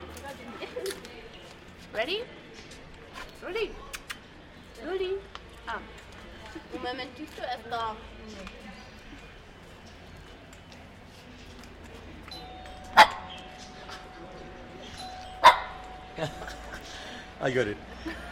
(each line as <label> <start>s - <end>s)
bell 12.2s - 18.3s
her dog would bark 15.4s - 15.8s